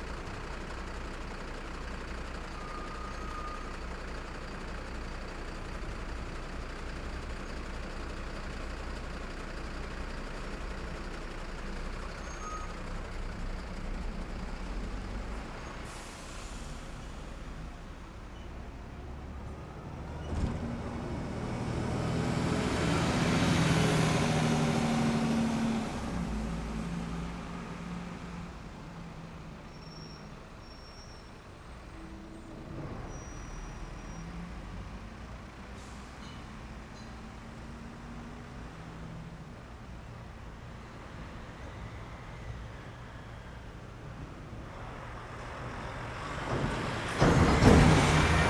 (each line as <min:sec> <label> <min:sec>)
0:12.8 Traffic passing 0:30.6
0:37.5 Traffic passing 0:48.4